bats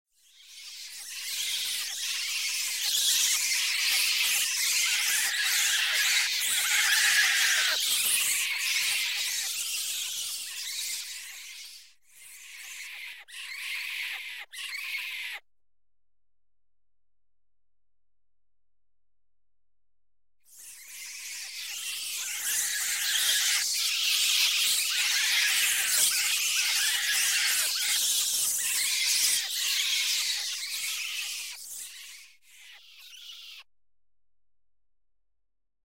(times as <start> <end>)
0.2 15.4, 20.5 33.7